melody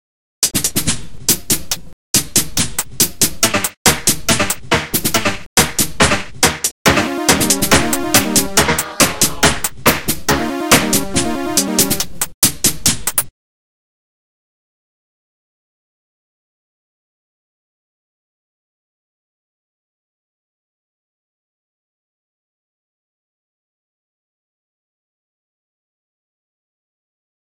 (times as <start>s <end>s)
6.9s 9.6s, 10.3s 12.0s